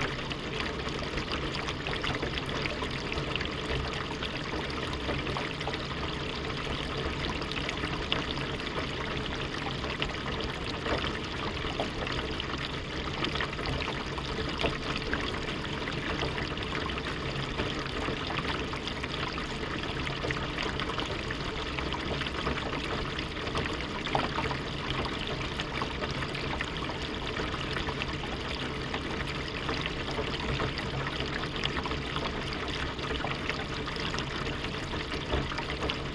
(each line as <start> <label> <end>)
0.0 Water gushing down the drainpipe 36.1